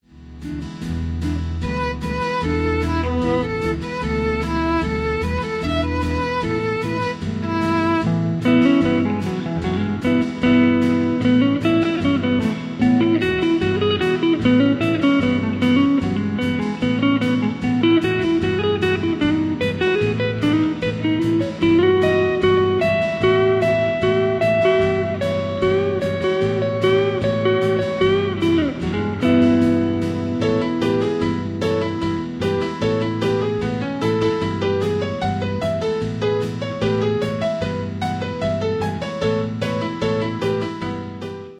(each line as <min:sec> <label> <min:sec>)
0:00.0 guitar 0:41.5
0:00.0 piano 0:41.5
0:01.2 violin 0:34.6